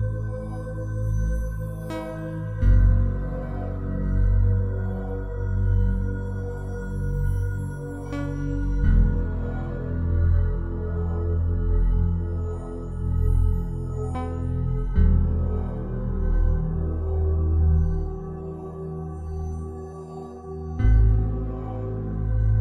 0.0s synthesizer 22.6s

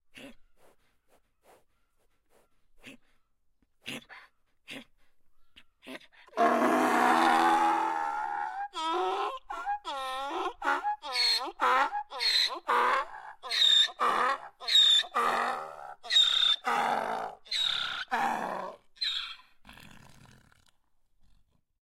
6.3s braying donkey 19.5s

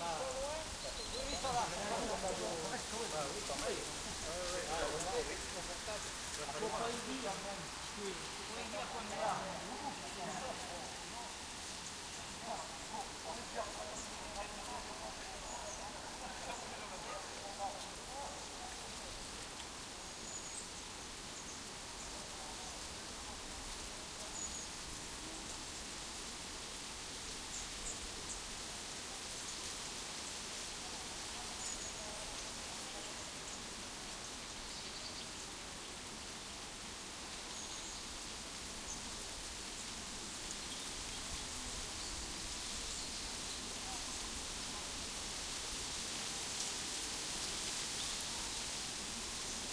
0.0s talk to each other in French 19.2s
0.0s dry leaves rustling in a tree 49.7s
0.0s Group of Cyclists ride by 19.3s

